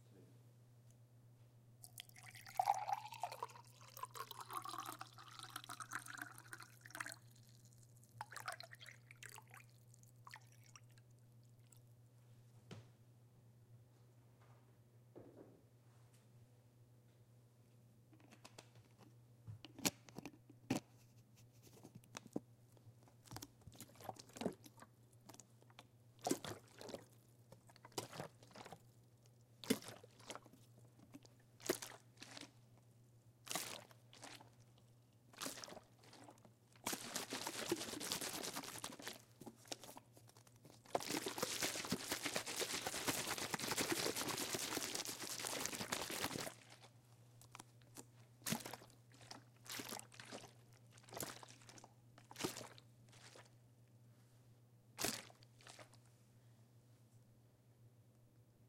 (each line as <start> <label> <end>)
1.9 water bottle 7.4
35.4 water bottle 40.0
40.8 water bottle 46.9